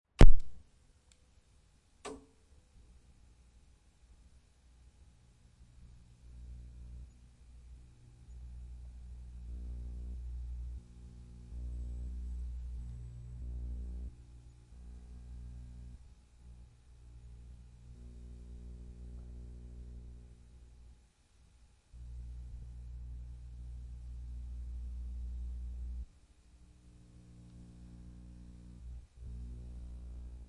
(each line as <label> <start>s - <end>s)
television tv on off CRT buzz 5.6s - 20.9s
television tv on off CRT buzz 22.0s - 30.4s